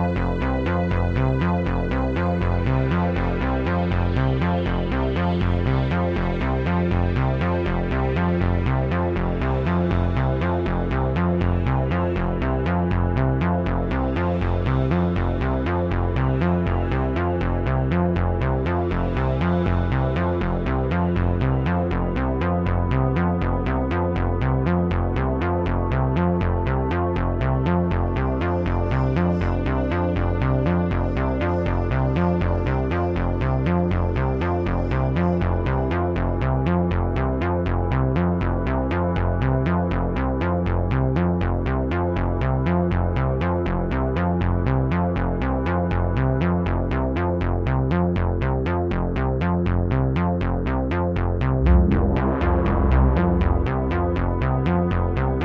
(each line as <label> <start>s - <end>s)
Space chase ambient music 0.0s - 55.4s
synth 50.4s - 55.4s
spaceship 51.0s - 55.4s